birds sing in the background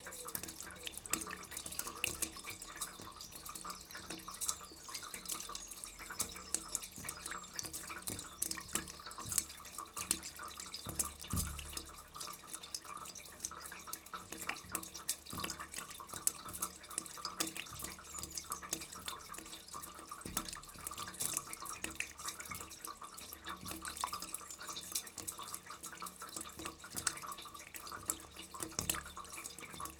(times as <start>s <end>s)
0.0s 12.0s, 16.3s 19.8s